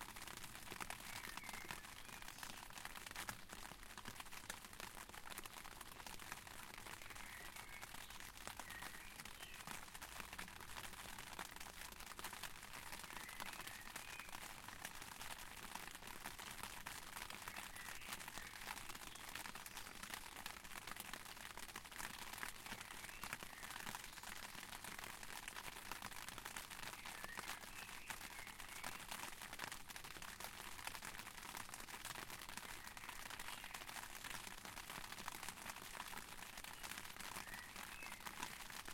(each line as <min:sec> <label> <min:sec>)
0:00.0 Rain on an umbrella 0:38.9
0:00.9 birds 0:02.7
0:06.9 birds 0:09.8
0:12.9 birds 0:14.4
0:17.5 birds 0:20.1
0:22.7 birds 0:24.5
0:26.9 birds 0:29.2
0:32.7 birds 0:34.2
0:36.6 birds 0:38.6